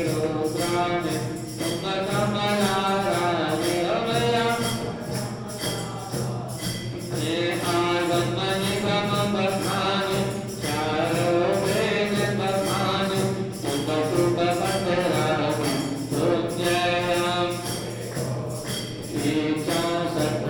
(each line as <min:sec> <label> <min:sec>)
0:00.0 religious ceremony music 0:20.4